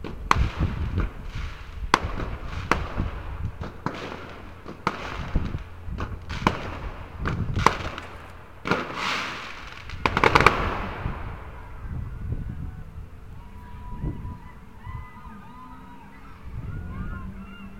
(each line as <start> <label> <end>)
0.0 Domestic fireworks display 13.4
0.0 rocket 13.6